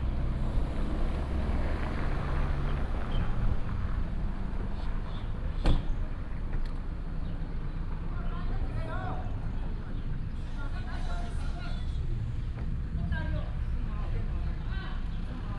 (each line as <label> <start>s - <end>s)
Traffic sound 0.0s - 15.5s